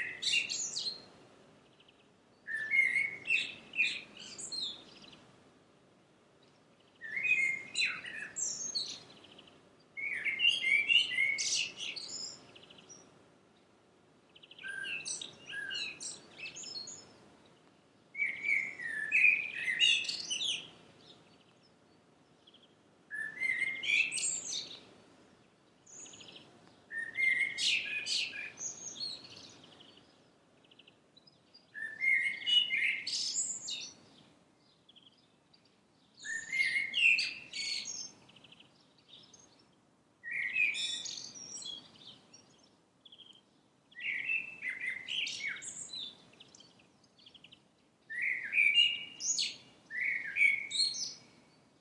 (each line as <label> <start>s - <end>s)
Birds Singing 0.0s - 5.4s
magpie 2.5s - 5.2s
Birds Singing 6.2s - 51.8s
magpie 7.0s - 13.0s
magpie 14.4s - 17.1s
magpie 18.2s - 21.2s
magpie 23.1s - 24.8s
magpie 25.9s - 30.0s
magpie 31.8s - 34.0s
magpie 36.2s - 38.7s
magpie 40.2s - 43.3s
magpie 44.0s - 51.4s